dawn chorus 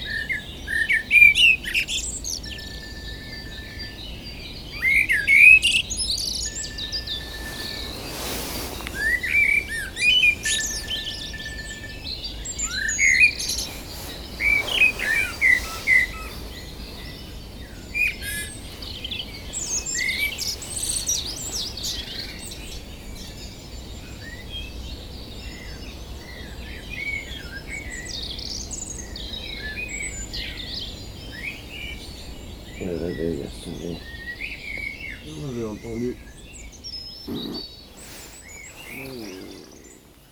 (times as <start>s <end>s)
0.0s 24.4s, 37.2s 40.3s